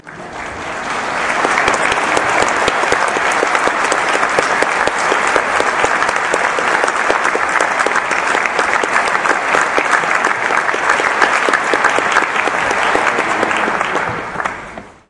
applause 0:00.0 - 0:15.0

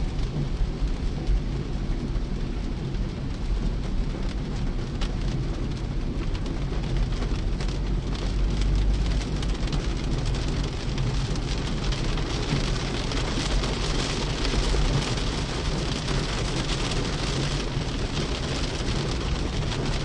Highway rush hour driving 0:00.0 - 0:20.0
rain 0:00.0 - 0:20.0
windshield wipers 0:02.7 - 0:20.0

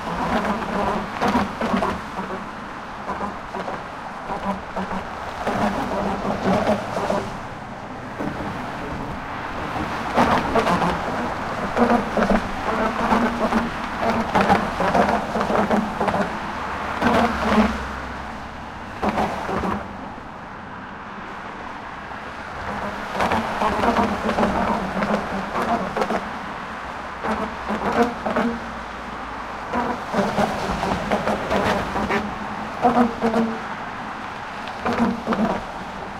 traffic noise 0:00.0 - 0:36.1
wind 0:00.0 - 0:36.1

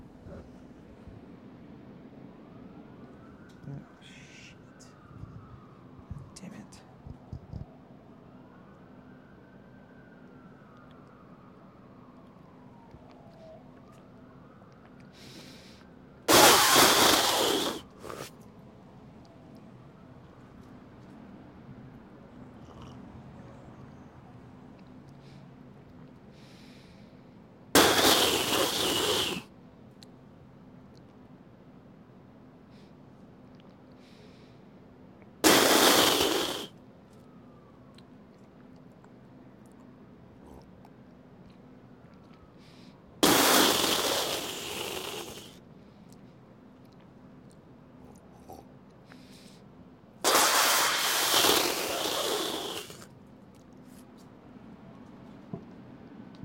sirens 0:00.0 - 0:16.4
me cursing about the sirens 0:03.2 - 0:07.7
Spit Take 0:07.0 - 0:07.7
Spit Take 0:16.3 - 0:18.4
sirens 0:17.8 - 0:27.8
Spit Take 0:27.8 - 0:29.5
Spit Take 0:35.4 - 0:36.7
sirens 0:36.2 - 0:40.4
sirens 0:41.0 - 0:43.2
Spit Take 0:43.2 - 0:45.6
Spit Take 0:50.2 - 0:53.1

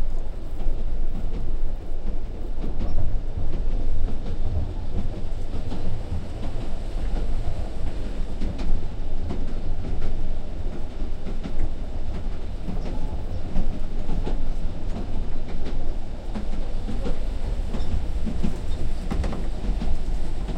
Steam Train Interior 0:00.0 - 0:20.5

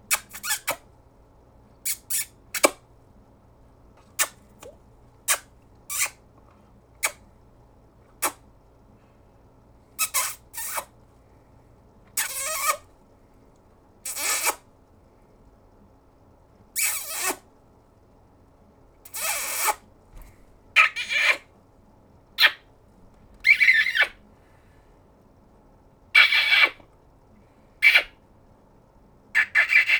kisses 0:00.1 - 0:00.8
kisses 0:01.9 - 0:02.8
kisses 0:04.2 - 0:06.2
kisses 0:08.2 - 0:08.4
kisses 0:10.0 - 0:10.9
kisses 0:12.2 - 0:12.8
kisses 0:14.1 - 0:14.6
kisses 0:16.8 - 0:17.4
kisses 0:19.1 - 0:19.8
kisses 0:23.4 - 0:24.2
kisses 0:26.2 - 0:26.8
kisses 0:27.8 - 0:28.1

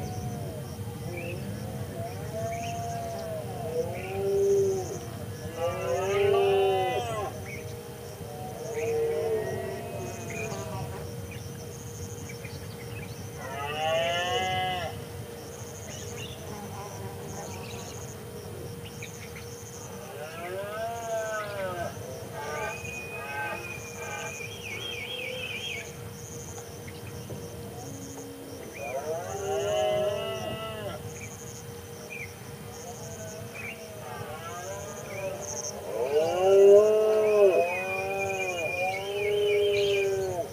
insects 0:00.0 - 0:40.5
bird calls 0:21.2 - 0:29.1
bird calls 0:36.7 - 0:40.5

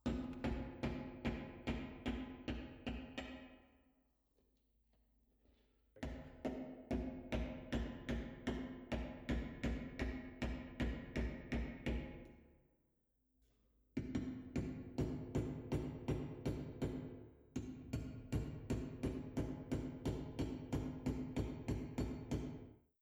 hammer hammering a nail in distance 0:14.2 - 0:22.7

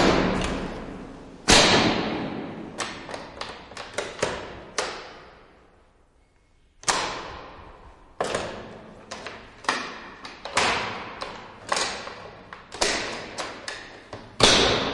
Metal lock and latch of a cell 0:06.8 - 0:14.9

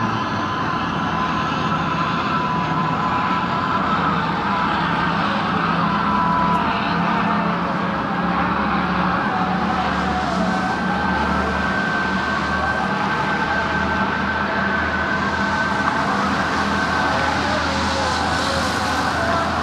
boats 0:00.0 - 0:19.6
cars 0:00.0 - 0:19.6
prayers heard from both sides of land 0:00.0 - 0:19.6

